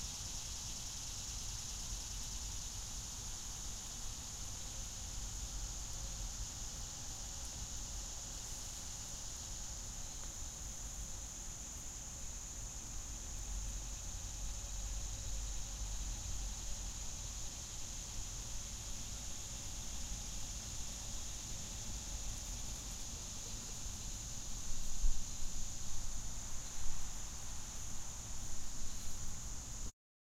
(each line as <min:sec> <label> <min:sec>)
0:00.0 Cicadas 0:29.9